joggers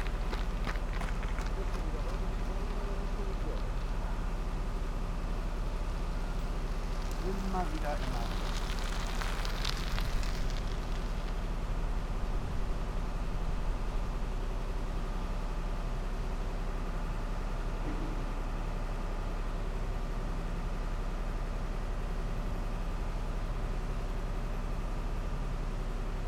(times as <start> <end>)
0.0 4.0